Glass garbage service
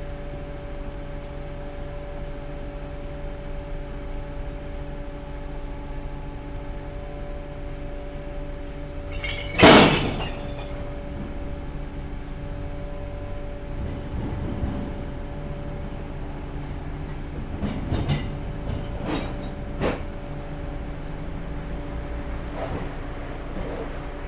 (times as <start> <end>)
8.8 13.1